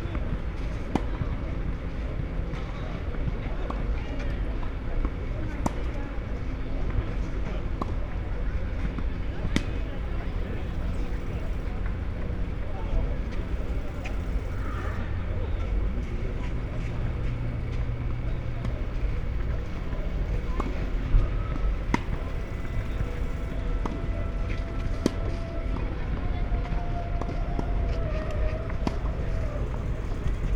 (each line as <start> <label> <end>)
0.1 tennis and soccer trainings 30.5
8.0 trains passing-by 30.5